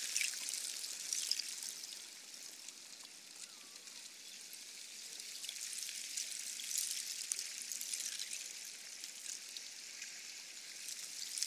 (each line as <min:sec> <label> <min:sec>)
0:04.4 ice across the frozen river is agitated by surface wave action 0:11.4